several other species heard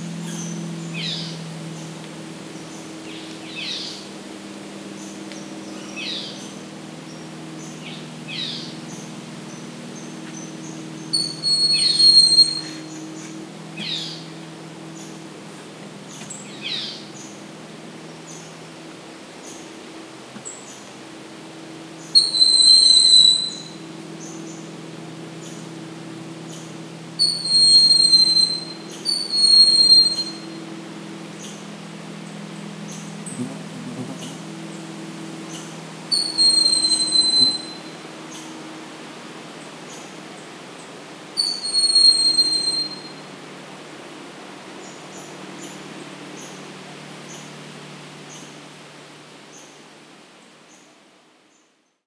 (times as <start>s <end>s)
32.3s 38.8s